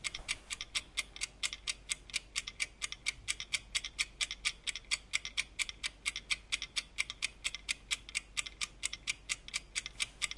0.0s egg timer 10.3s

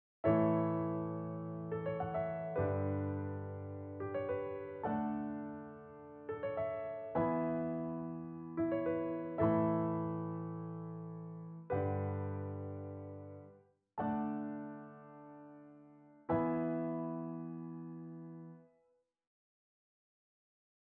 0.2s piano 18.8s

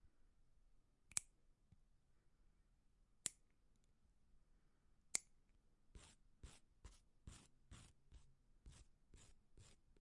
5.9s file nails 10.0s

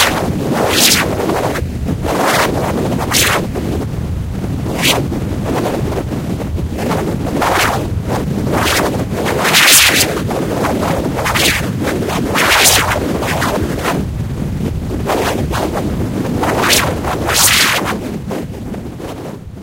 0.0s short whipping sounds 1.2s
2.2s short whipping sounds 3.4s
4.7s short whipping sounds 5.0s
7.4s short whipping sounds 7.8s
8.6s short whipping sounds 10.2s
11.2s short whipping sounds 11.7s
12.3s short whipping sounds 14.0s
16.5s short whipping sounds 18.0s

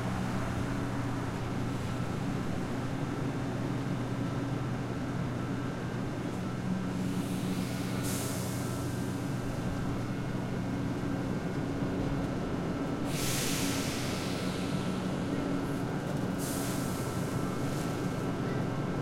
0.0s train 19.0s

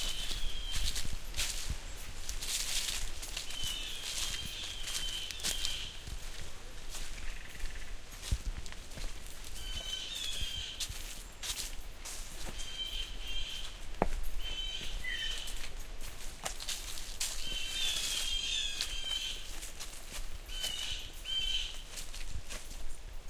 0.0s Footsteps in Dry Leaves 23.2s
2.5s crows cawing in the trees 11.6s
12.4s crows cawing in the trees 15.8s
16.6s crows cawing in the trees 22.2s

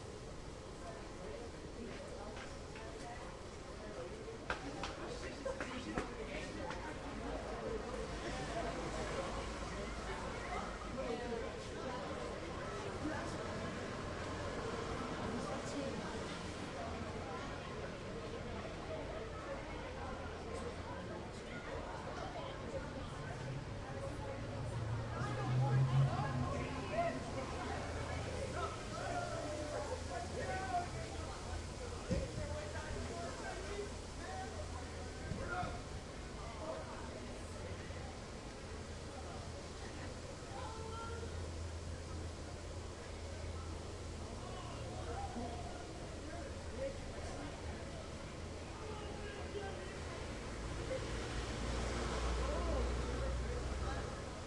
0.0s din of many conversations 54.4s
22.7s passing trucks 32.0s
49.5s passing trucks 54.4s

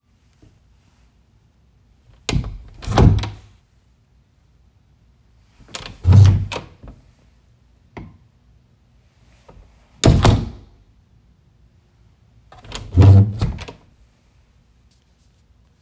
2.1s Bedroom door in a house being closed and opened 3.6s
5.6s Bedroom door in a house being closed and opened 7.1s
8.0s Bedroom door in a house being closed and opened 8.3s
9.5s Bedroom door in a house being closed and opened 10.8s
12.5s Bedroom door in a house being closed and opened 14.0s

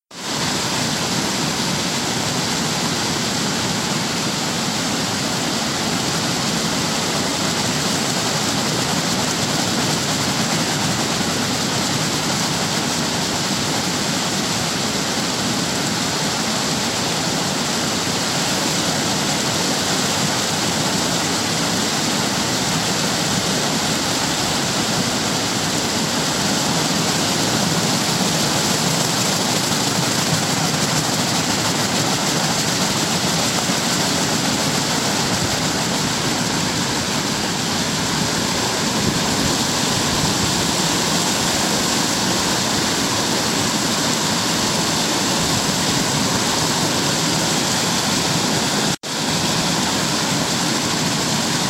0.0s waterfall 51.6s

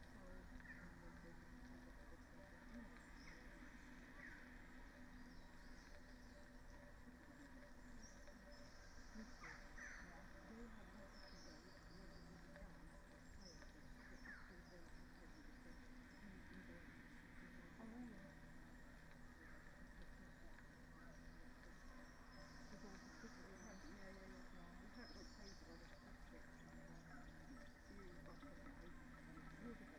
0.0s Dendrophone 29.9s

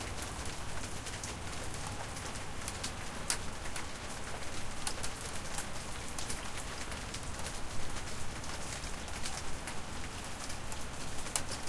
0.0s Rain falling on the porch 11.6s

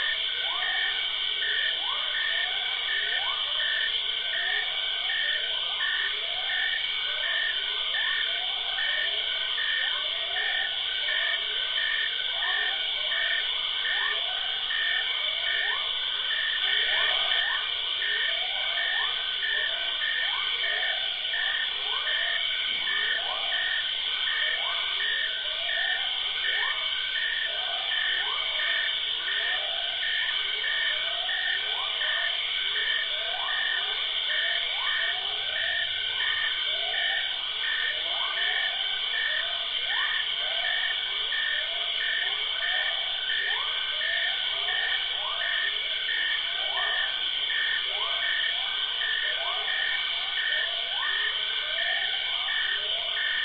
0.0s insect 53.4s

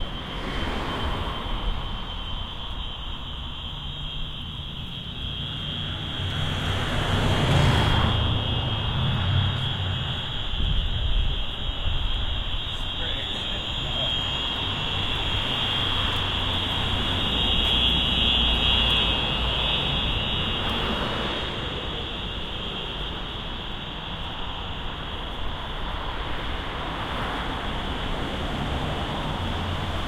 1.1s strange ringing fire alarm 25.6s

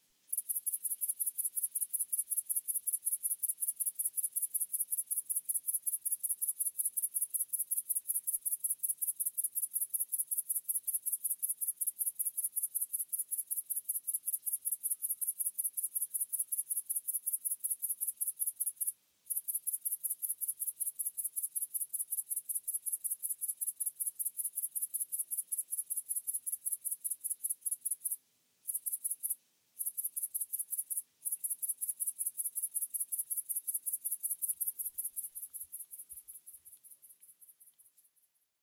0.3s grasshopper 38.4s

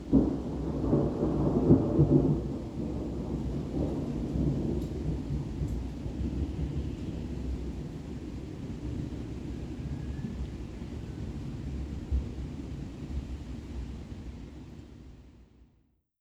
0.1s Thunder booms and rumbles 5.6s

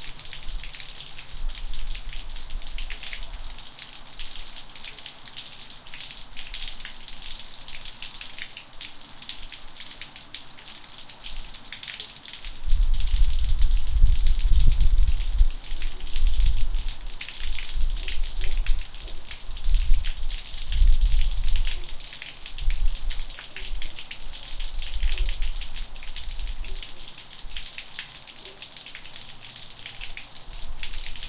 0.0s Water Falling into Gutter 31.2s

